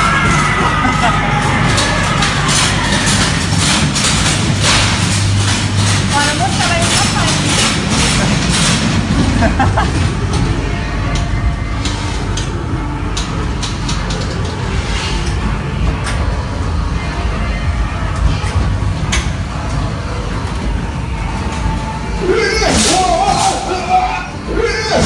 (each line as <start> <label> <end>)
0.0 laughing and scared sounds 1.6
9.2 laughing and scared sounds 10.3